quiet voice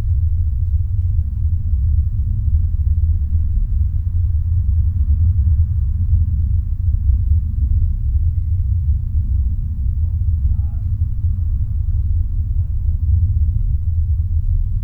0:10.4 0:11.1

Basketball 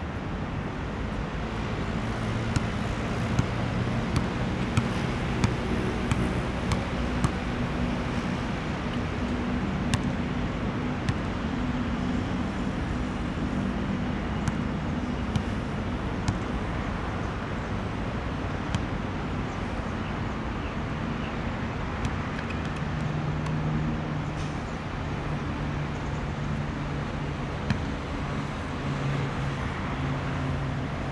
0:02.1 0:09.3, 0:09.9 0:10.2, 0:14.3 0:16.6, 0:22.0 0:23.6, 0:27.6 0:28.5

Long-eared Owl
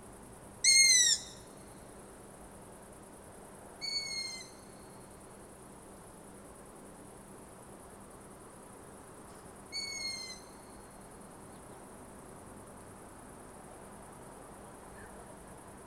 0:00.6 0:01.6, 0:03.8 0:04.7, 0:09.7 0:10.9

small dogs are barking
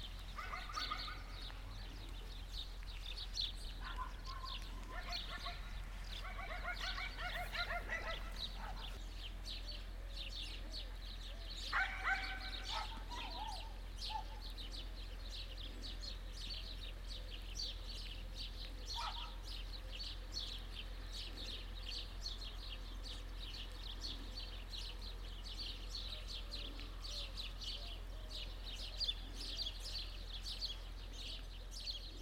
0:00.3 0:02.2, 0:03.6 0:09.0, 0:11.6 0:14.6, 0:18.5 0:19.8

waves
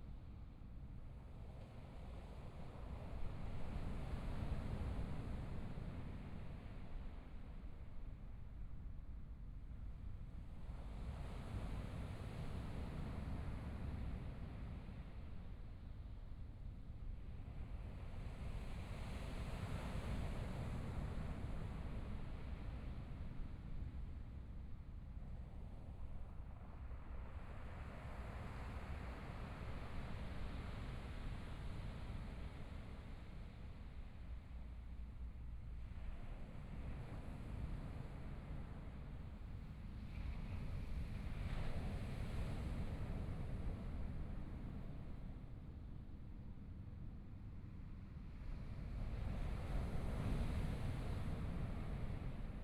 0:26.5 0:45.9, 0:47.6 0:52.6

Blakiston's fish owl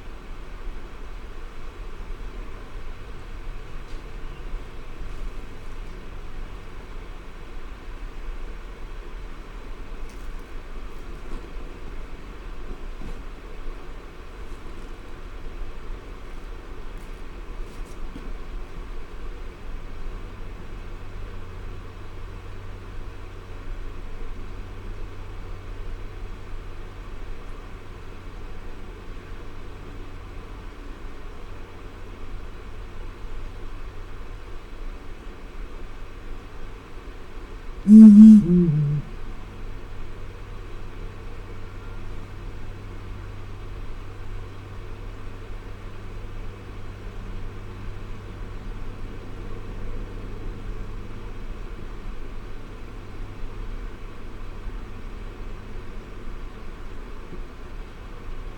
0:37.9 0:39.1

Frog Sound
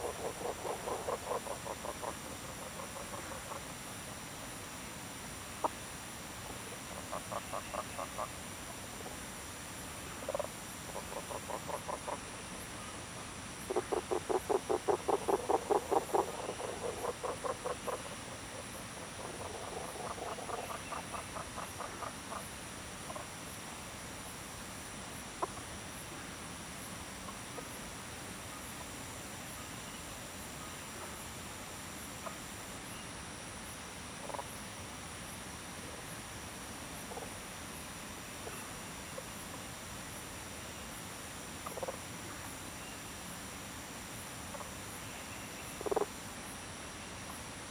0:00.0 0:04.6, 0:05.5 0:09.2, 0:10.0 0:23.6, 0:25.1 0:34.7, 0:41.6 0:42.6, 0:44.4 0:46.3

